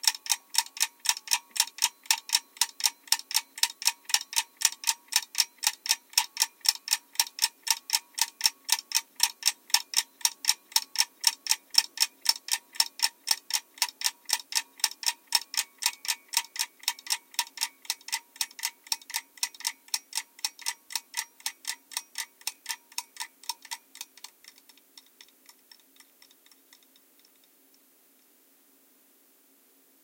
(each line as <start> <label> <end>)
0.0 clock ticking 27.5